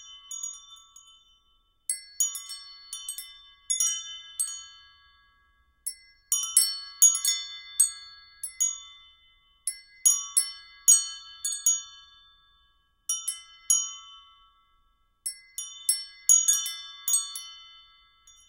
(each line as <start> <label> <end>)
0.0 bell 18.4